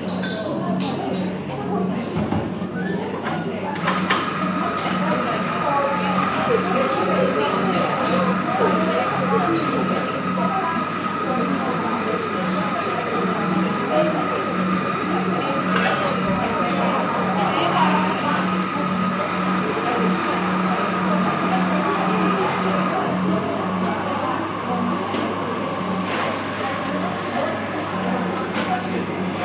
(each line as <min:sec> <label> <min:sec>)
0:00.0 Chinking cups and spoons 0:01.2
0:00.0 Female voices in the back ground 0:29.4
0:00.0 coffee machine 0:29.4